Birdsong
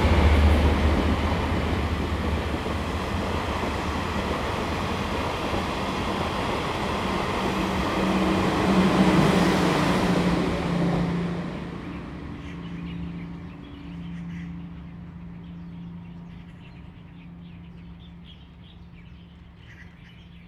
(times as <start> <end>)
11.8 20.4